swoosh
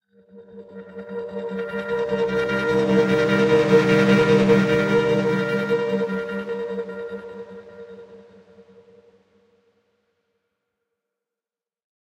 1.8s 8.2s

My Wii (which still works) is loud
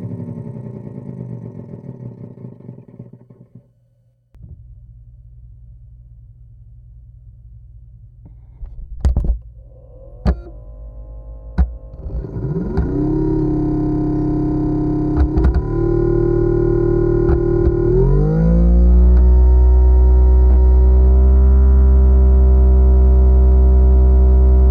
11.5s 21.5s

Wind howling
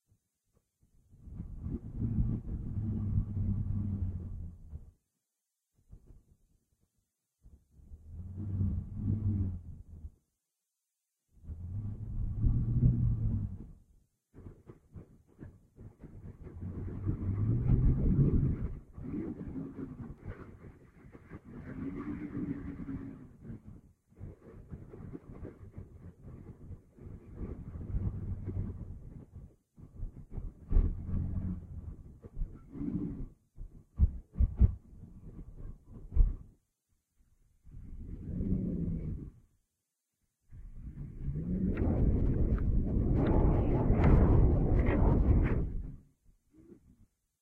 40.7s 46.8s

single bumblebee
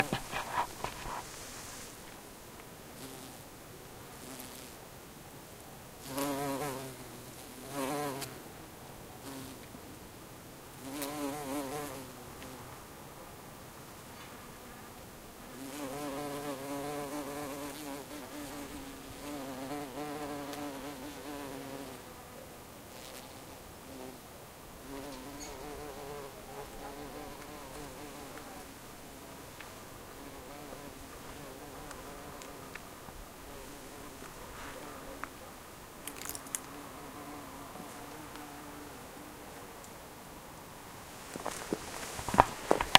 3.0s 3.4s, 4.1s 4.8s, 6.0s 8.4s, 15.5s 24.2s, 24.8s 28.7s, 30.1s 32.8s

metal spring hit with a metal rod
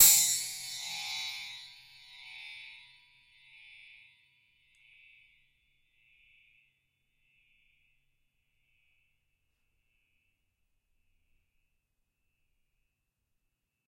0.0s 2.4s

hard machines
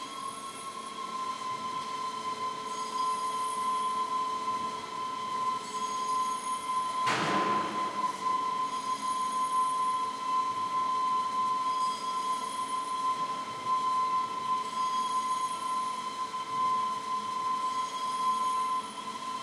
7.1s 8.7s

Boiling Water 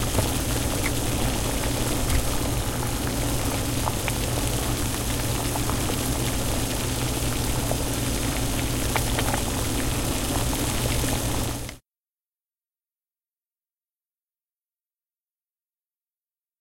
0.0s 11.8s

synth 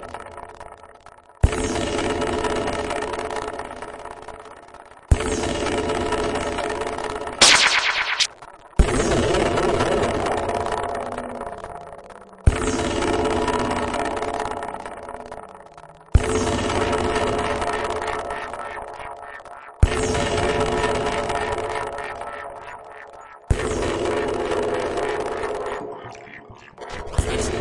7.4s 8.3s

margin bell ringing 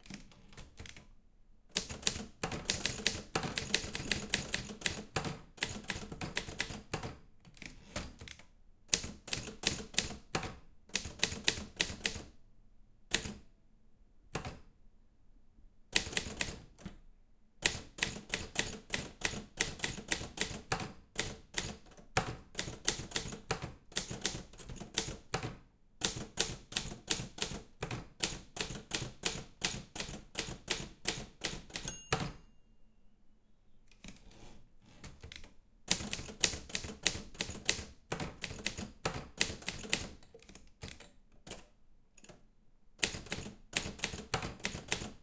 31.9s 32.9s

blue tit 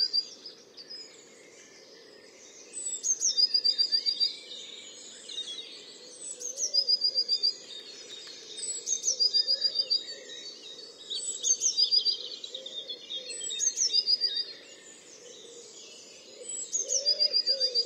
16.4s 17.8s

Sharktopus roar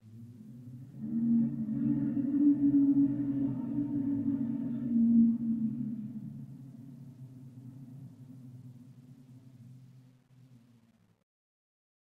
1.0s 6.4s

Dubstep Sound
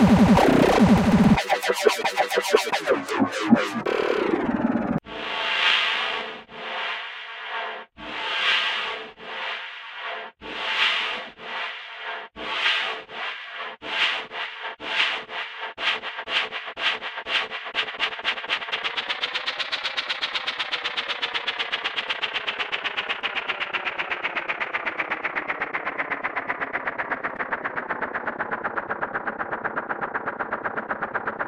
0.0s 5.0s

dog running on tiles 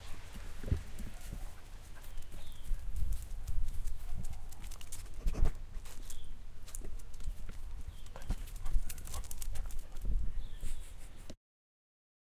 5.9s 10.4s

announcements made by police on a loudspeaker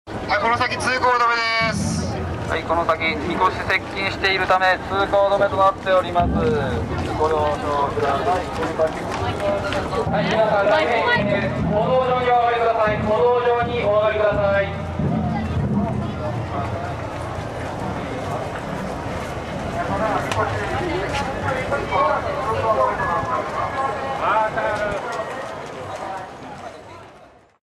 0.3s 6.0s, 20.7s 25.4s

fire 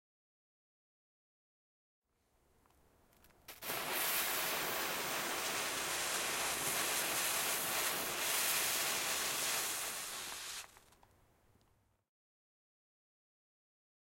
3.1s 11.1s

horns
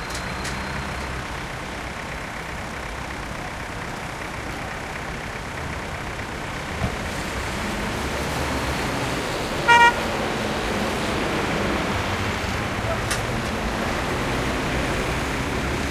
9.6s 10.1s

